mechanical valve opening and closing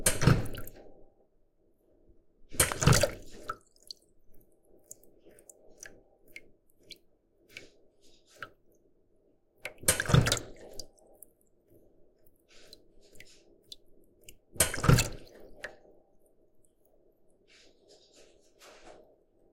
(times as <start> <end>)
9.7 10.8